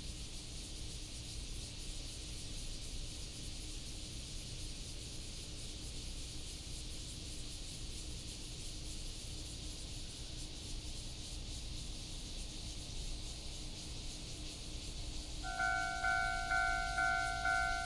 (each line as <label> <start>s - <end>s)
Cicada cry 15.4s - 17.8s
Railroad Crossing 15.4s - 17.8s
The train runs through 15.4s - 17.8s
Traffic sound 15.4s - 17.8s